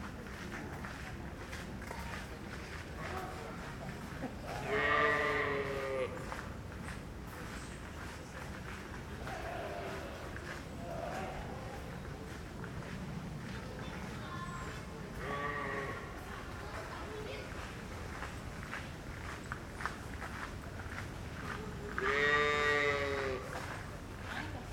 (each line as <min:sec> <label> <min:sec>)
0:04.4 tourist sheep 0:06.4
0:09.0 tourist sheep 0:16.5
0:20.9 tourist sheep 0:24.5